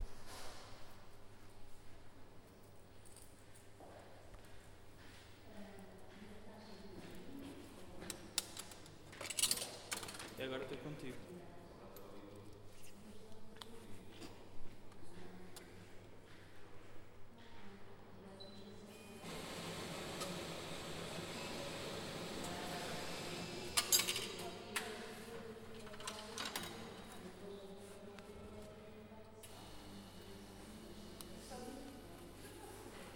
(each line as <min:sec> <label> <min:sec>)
0:12.6 Máquina de Café 0:33.1